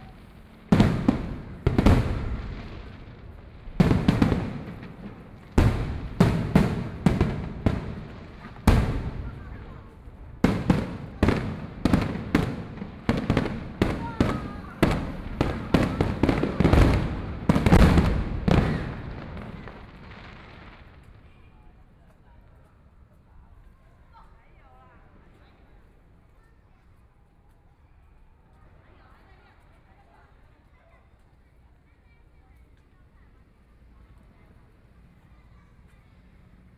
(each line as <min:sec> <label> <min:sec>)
0:00.0 Fireworks sound 0:21.2
0:00.0 Traffic Sound 0:21.3